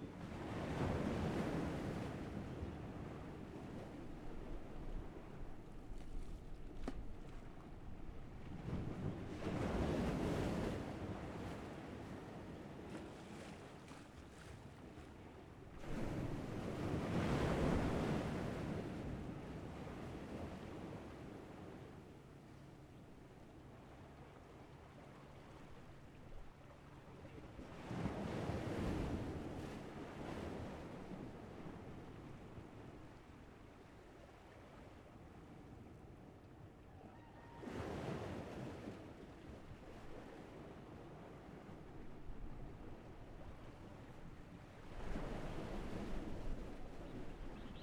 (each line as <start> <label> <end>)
0.0 waves 47.8
47.6 Birds singing 47.8